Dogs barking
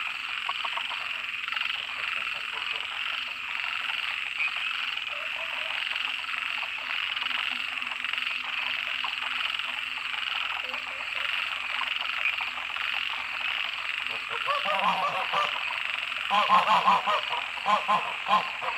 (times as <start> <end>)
5.1 5.8, 14.3 15.6